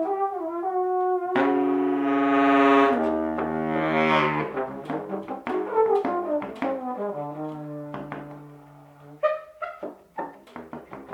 0.0s sax 10.4s

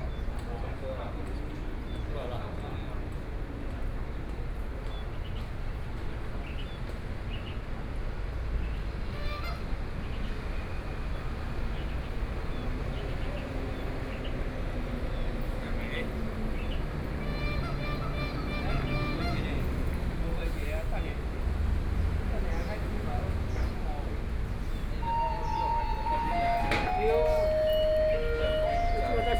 25.0s Garbage truck arrived 29.3s

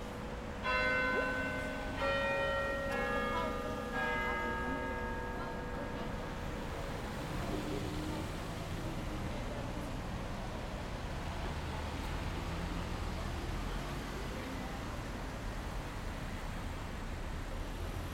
0.0s Church bells 8.4s
0.0s street sounds 18.1s

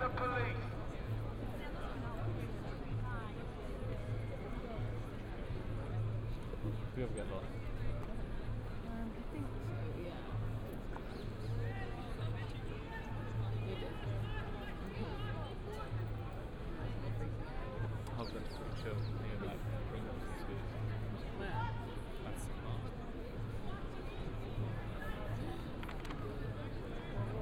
0.0s Anti-War Rally 0.7s

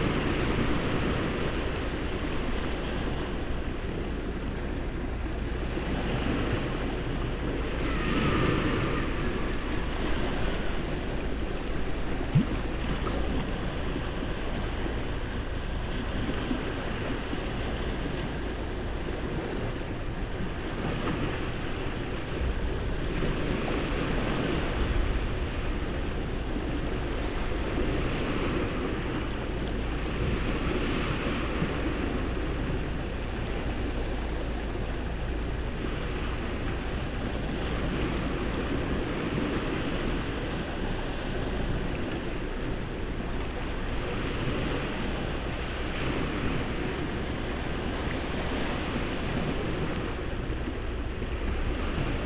0.0s sea waves 52.2s

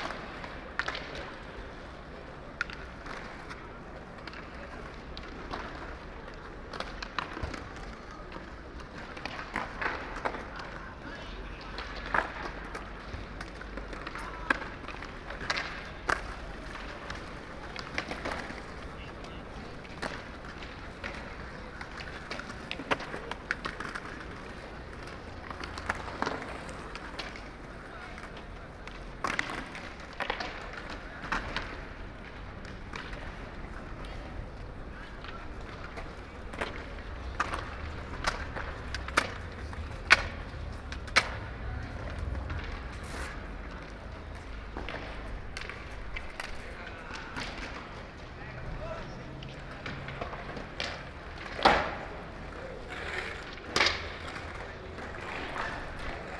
0.0s Skaters on the plaza 56.3s

